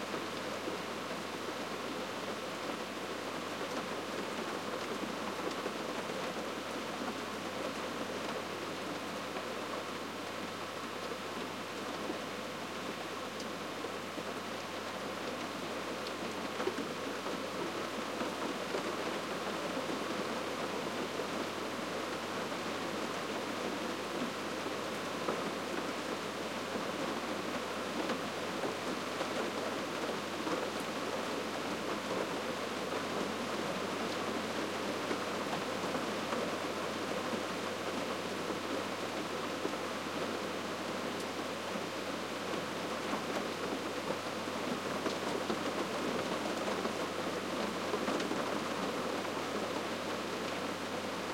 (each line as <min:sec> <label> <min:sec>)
0:00.0 Rain on the roof 0:51.3